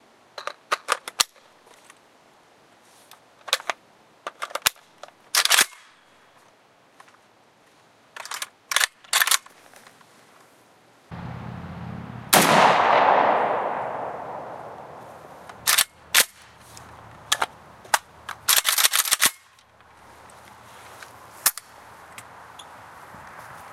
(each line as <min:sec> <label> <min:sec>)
0:12.1 gunshot 0:15.5